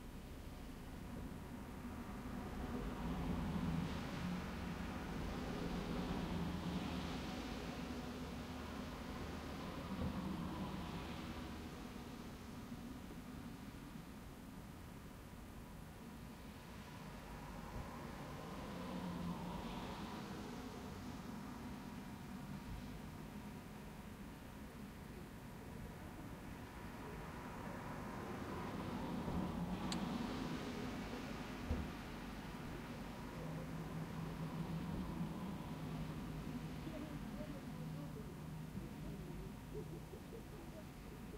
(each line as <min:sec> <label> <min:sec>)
0:01.8 cars passing by 0:14.0
0:16.4 cars passing by 0:23.6
0:25.5 cars passing by 0:41.3
0:36.6 people 0:41.3